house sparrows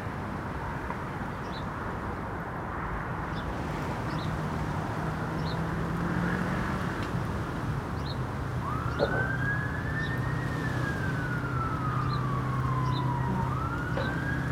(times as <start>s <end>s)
8.0s 8.2s